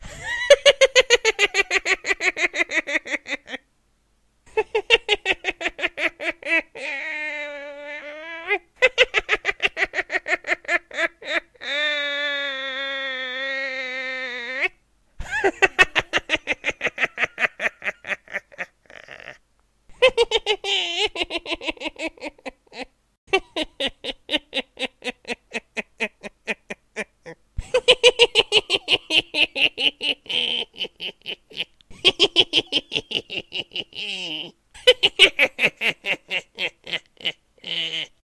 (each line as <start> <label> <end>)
0.0 Evil Witch Laugh 3.6
4.5 Evil Witch Laugh 38.2